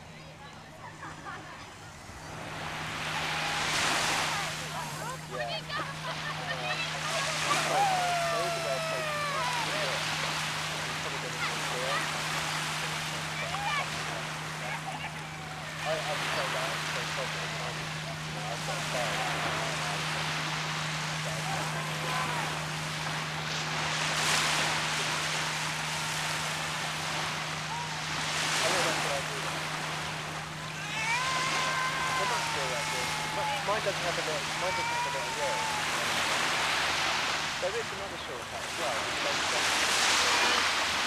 Local lads 0.0 - 41.0
screaming Mum 30.7 - 33.7

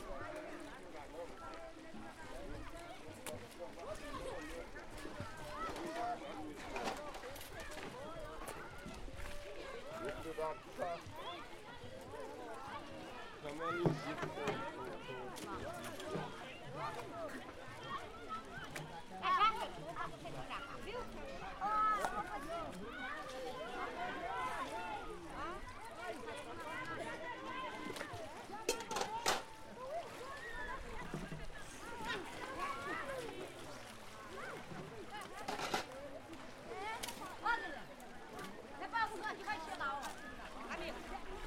banho de rio 0.0 - 41.4

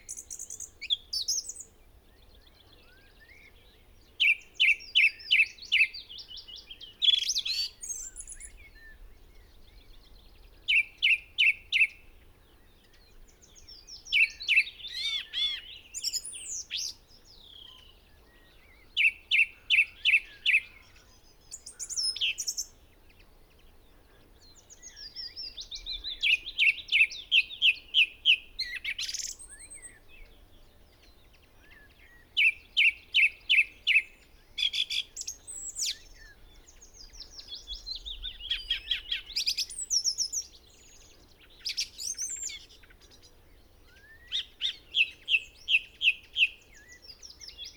blackbird 0.0 - 47.7
pheasant 0.0 - 47.7
song thrush song 0.0 - 47.7
willow warbler 0.0 - 47.7

